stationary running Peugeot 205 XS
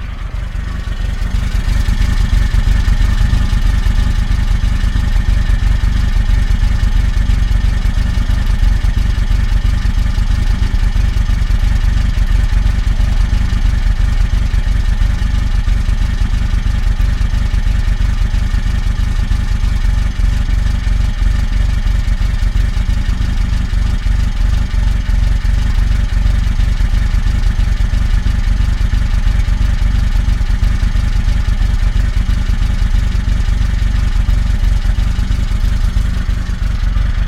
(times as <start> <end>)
0.0 26.1